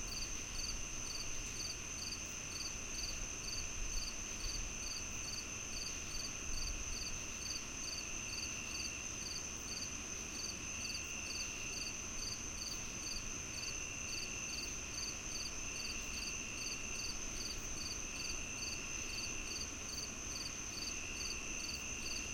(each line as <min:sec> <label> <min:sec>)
0:00.0 nearby cricket 0:22.3